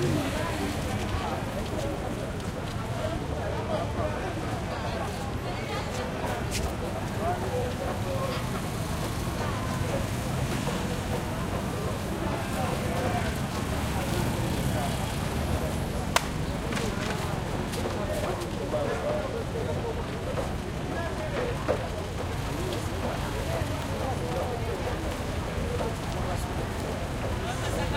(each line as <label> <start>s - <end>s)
throaty motorcycles pass 0.0s - 1.4s
voices 0.0s - 27.9s